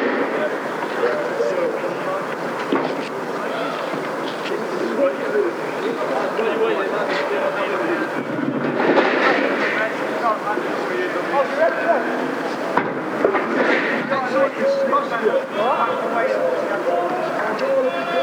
Soldiers Riot Training 0:00.0 - 0:18.2

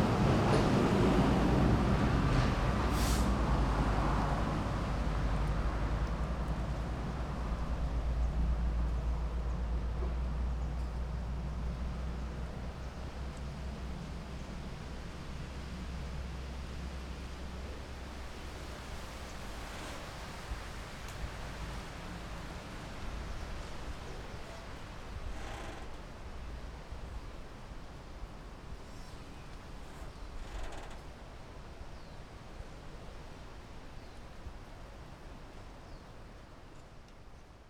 Traffic Sound 0:00.0 - 0:31.9

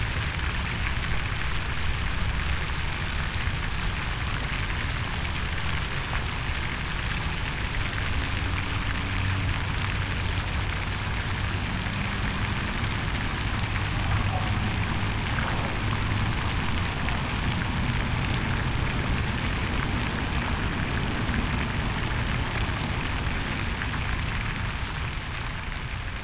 fountain 0:00.0 - 0:26.2
traffic sounds 0:00.0 - 0:26.2
bikes 0:04.2 - 0:26.2
water fowl 0:13.3 - 0:18.6

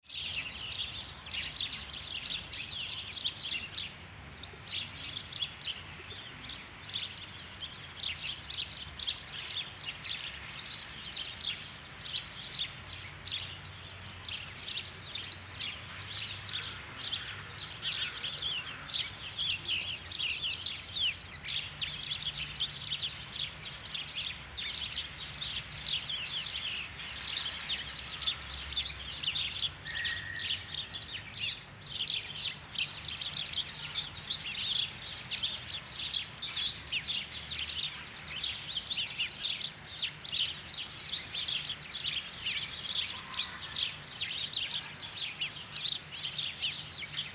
Sparrows 0:00.0 - 0:47.3

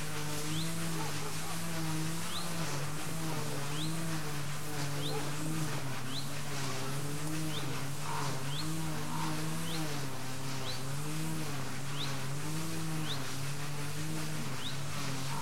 electric and manual saws cut various objects 0:00.0 - 0:15.4
lawnmowers roar 0:00.0 - 0:15.4

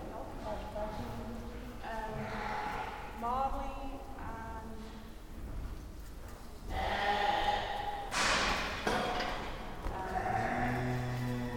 judging wool on the hoof 0:00.0 - 0:08.2
cow 0:01.9 - 0:03.2
metal gates clanging 0:08.1 - 0:09.7
judging wool on the hoof 0:09.4 - 0:11.5
cow 0:09.9 - 0:11.5

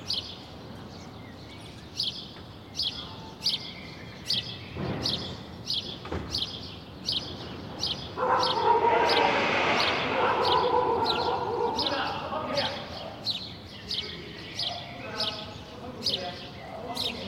noise of cars 0:00.0 - 0:17.2

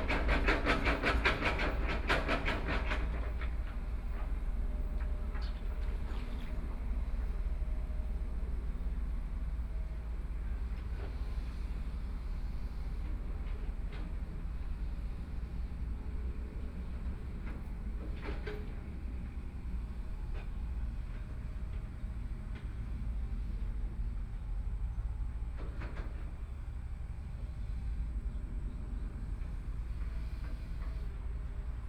Trains traveling through 0:00.0 - 0:31.8
construction site noise 0:00.0 - 0:31.8

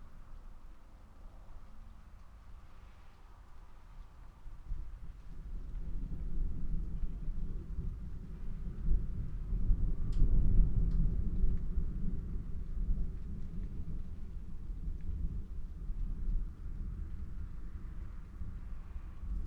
thunderstorm 0:04.8 - 0:19.4

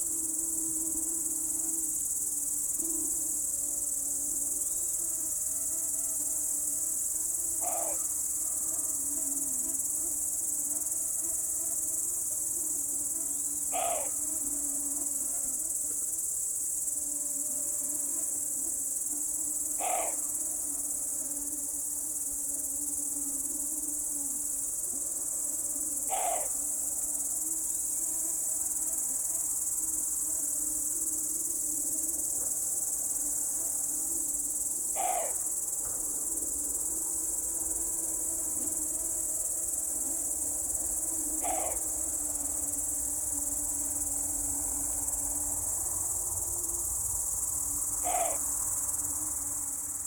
crickets 0:00.0 - 0:50.0

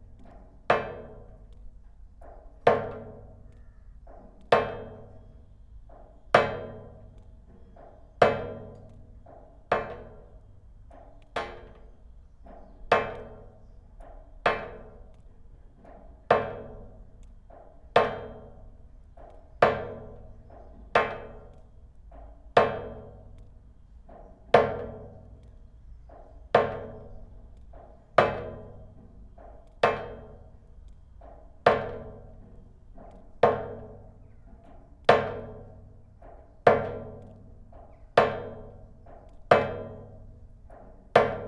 drops of water falling in a long rainwater pipe 0:00.0 - 0:41.4

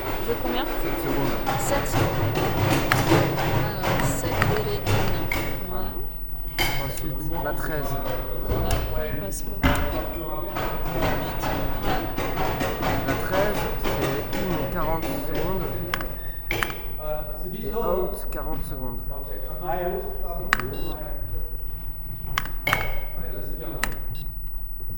conversations 0:00.0 - 0:24.9
clicking and programming of the light board 0:15.9 - 0:17.0
clicking and programming of the light board 0:20.4 - 0:21.0
clicking and programming of the light board 0:22.1 - 0:24.9

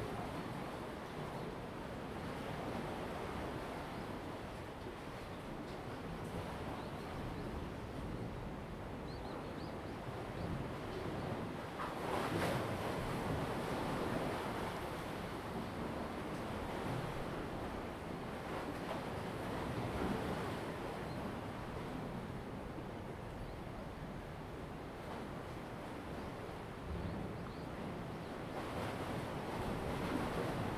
Tide and Wave 0:00.0 - 0:30.7

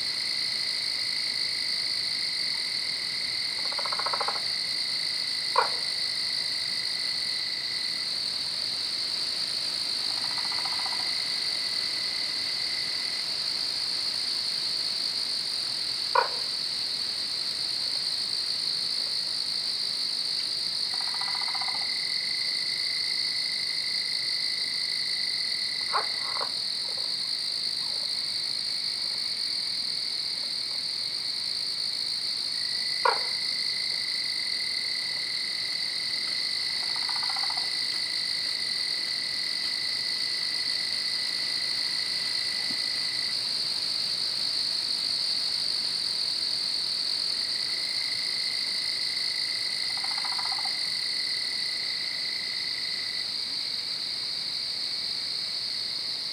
Frogs 0:00.0 - 0:56.3
Night Insects 0:00.0 - 0:56.3

